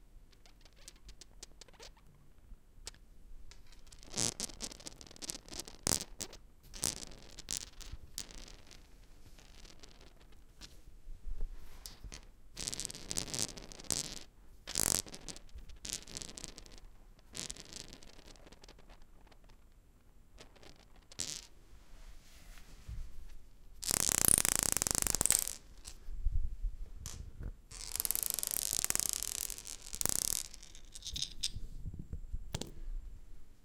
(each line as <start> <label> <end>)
3.5 Marble rolling on a stone bathroom floor 10.2
11.8 Marble rolling on a stone bathroom floor 19.6
20.4 Marble rolling on a stone bathroom floor 21.5
23.8 Marble rolling on a stone bathroom floor 26.0
27.0 Marble rolling on a stone bathroom floor 31.8